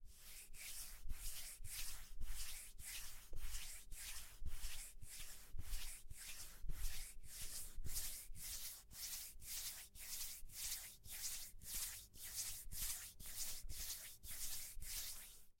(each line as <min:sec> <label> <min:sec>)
0:00.3 Scratching beard cheek with hand 0:15.4